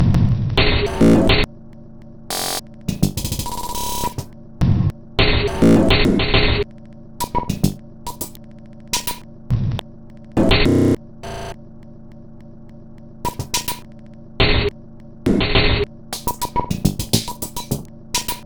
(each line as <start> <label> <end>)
0.9 Drum Loop 1.3
2.3 Drum Loop 4.3
5.5 Drum Loop 5.9
7.2 Drum Loop 9.2
13.3 Drum Loop 13.9
16.2 Drum Loop 18.4